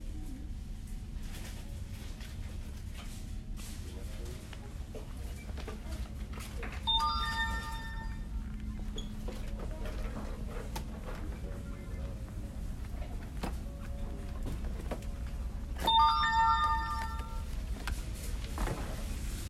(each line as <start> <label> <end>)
6.9 Retail Hand Inventory Scanner Ping 8.3
15.3 Retail Hand Inventory Scanner Ping 18.0